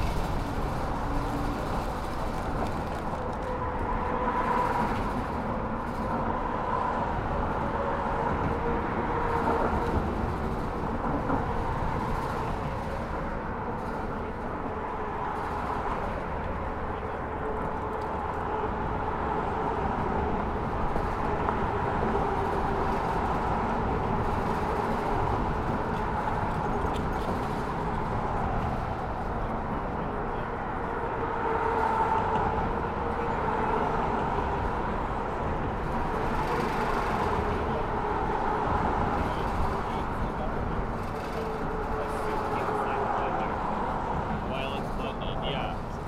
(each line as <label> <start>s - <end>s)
Bridge traffic 0.0s - 46.0s